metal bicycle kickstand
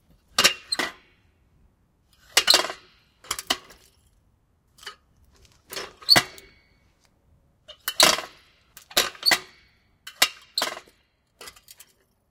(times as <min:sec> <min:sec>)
0:00.4 0:01.1, 0:02.2 0:03.8, 0:05.7 0:06.6, 0:07.7 0:12.0